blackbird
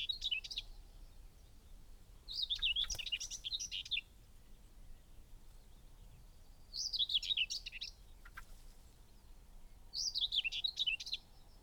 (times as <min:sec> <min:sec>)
0:02.3 0:04.0, 0:05.7 0:09.3